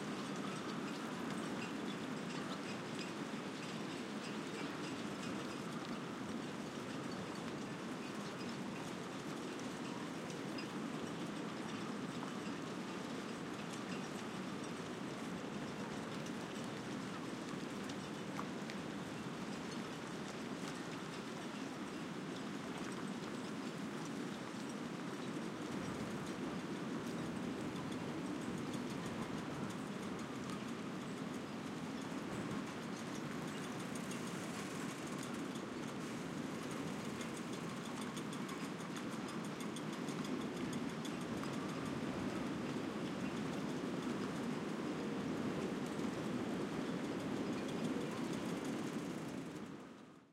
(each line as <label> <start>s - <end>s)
Calm wind 0.0s - 50.3s
rattling at masts and rigging of the yachts 22.1s - 49.7s